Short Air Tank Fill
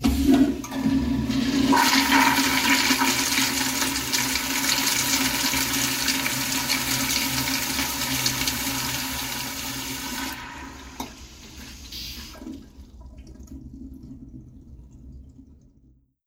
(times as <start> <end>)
10.0 13.8